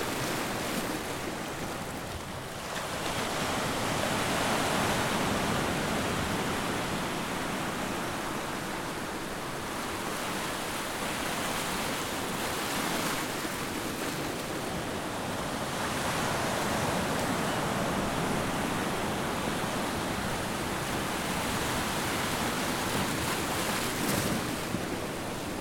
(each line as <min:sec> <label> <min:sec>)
0:00.0 waves on the rocks 0:25.6